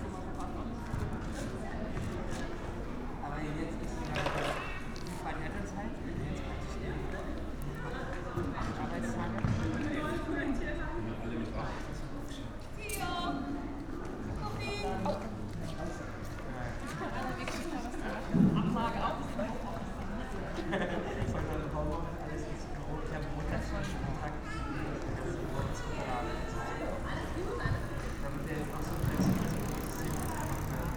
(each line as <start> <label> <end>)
16.7 kids of all ages 30.9
24.2 street sounds 30.9